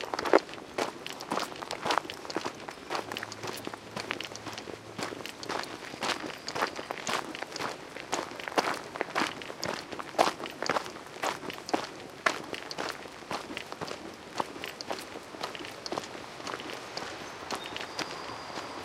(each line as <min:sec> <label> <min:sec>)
0:00.0 walk on a gravel path 0:18.8
0:16.0 birds 0:18.8